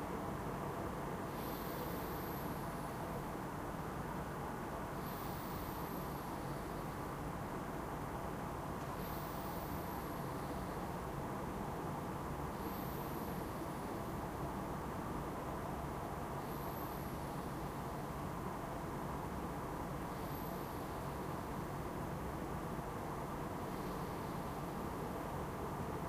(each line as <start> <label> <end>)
0.0 usual urban noise at night 26.0
1.3 breath 3.1
5.0 breath 7.1
8.8 breath 11.0
12.5 breath 14.1
16.4 breath 18.0
20.1 breath 21.4
23.6 breath 24.8